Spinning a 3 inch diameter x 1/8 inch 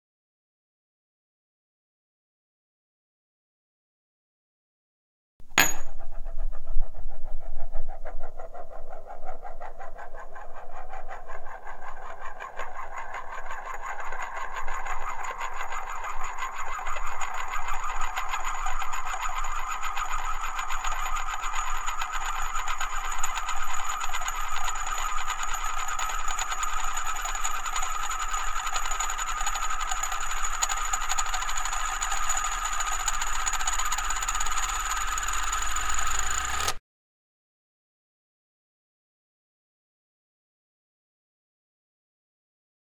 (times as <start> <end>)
5.4 36.8